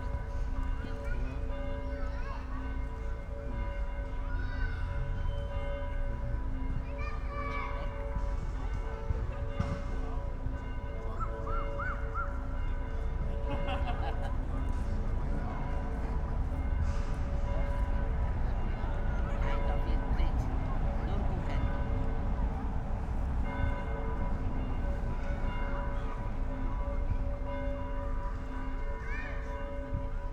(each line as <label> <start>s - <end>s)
churchbells 0.0s - 30.3s